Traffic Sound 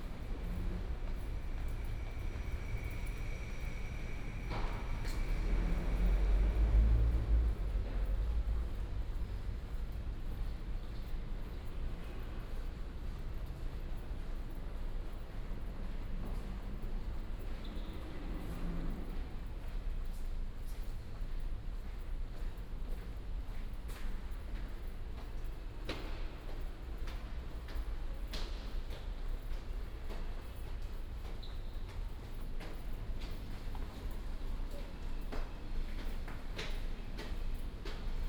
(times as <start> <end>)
0.0 10.5